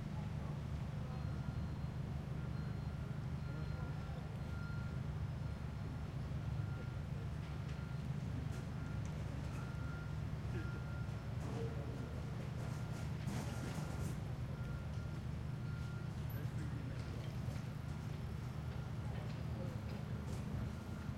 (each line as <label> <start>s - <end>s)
People 0.1s - 21.1s